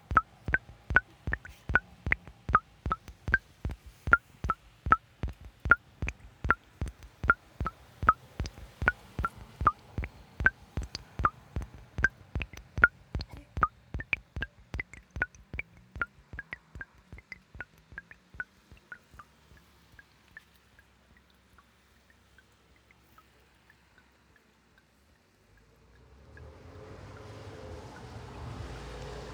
Dripping Font 0.0 - 20.0

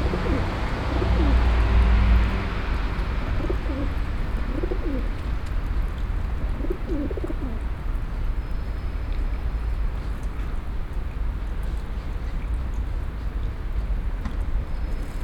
pigeons 0.0 - 1.6
pigeons 3.3 - 7.7

